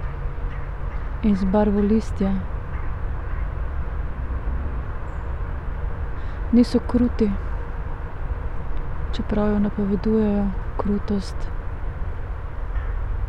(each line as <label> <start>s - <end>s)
words 1.2s - 2.5s
words 6.4s - 7.4s
words 9.2s - 11.5s
crows 12.7s - 13.1s